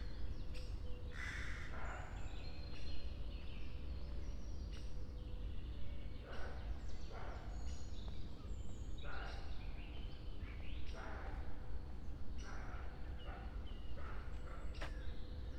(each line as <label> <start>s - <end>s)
crows 1.2s - 2.1s